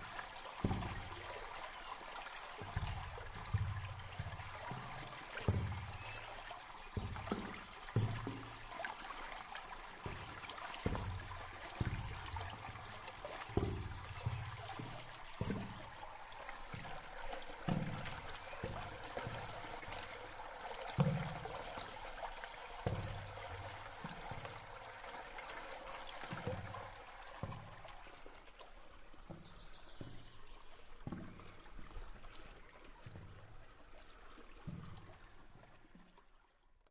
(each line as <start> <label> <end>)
0.0 water flow 36.6